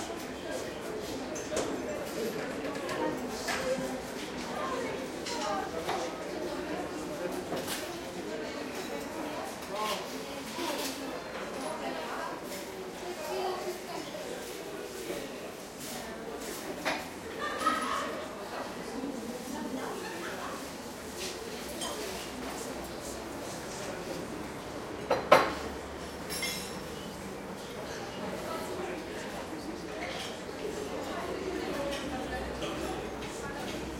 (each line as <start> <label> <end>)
25.0 dishes 27.0